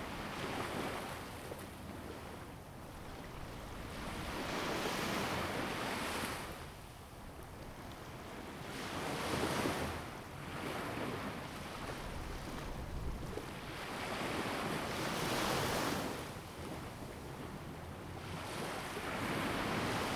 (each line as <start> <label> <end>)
0.0 waves 20.1